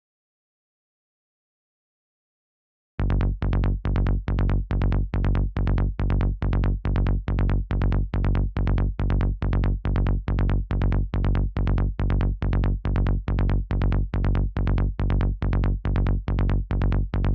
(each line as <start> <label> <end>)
3.0 Rolling psytrance bassline 17.3